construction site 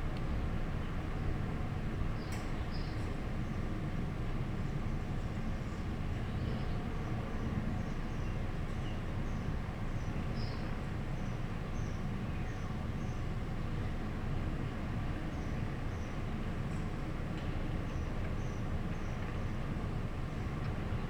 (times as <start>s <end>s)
15.6s 21.0s